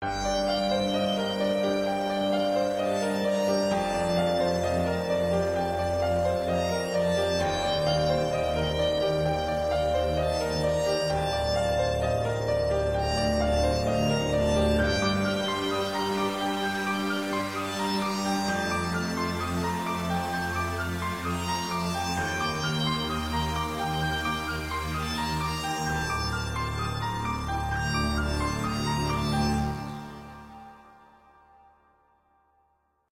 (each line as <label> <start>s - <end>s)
strings 0.0s - 31.4s
Piano 0.0s - 32.4s